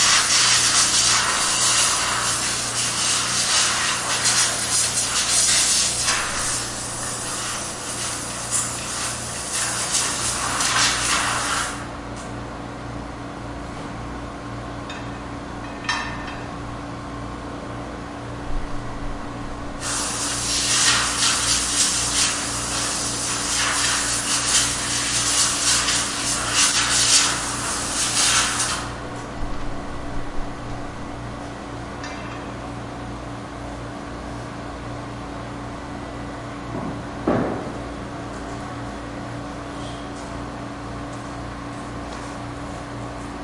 0.0s compressed air blower cleaning something 11.9s
11.8s machine hum 23.1s
19.8s compressed air blower cleaning something 29.0s
27.0s machine hum 42.8s

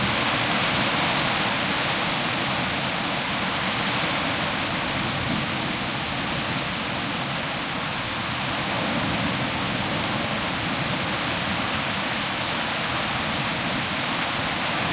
0.0s hailstorm 14.9s
0.0s powerful rain 14.9s

